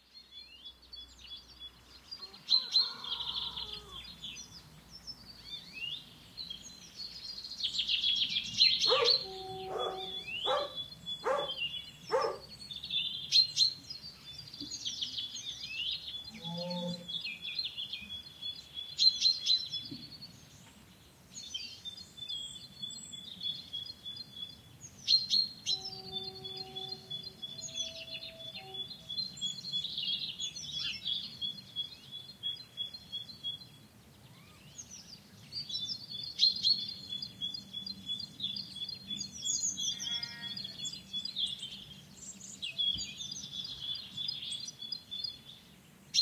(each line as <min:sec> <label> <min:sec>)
0:00.0 birds 0:46.2
0:08.8 voices 0:12.4
0:08.8 sheepdog 0:12.5
0:25.7 train 0:29.1
0:39.9 sheep 0:40.8